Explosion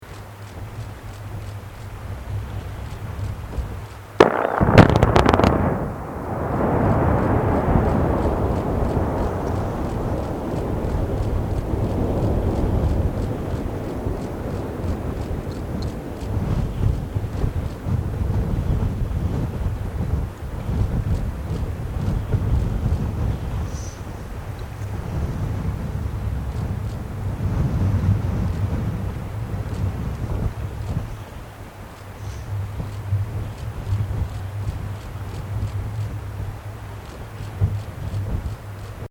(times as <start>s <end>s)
4.2s 10.3s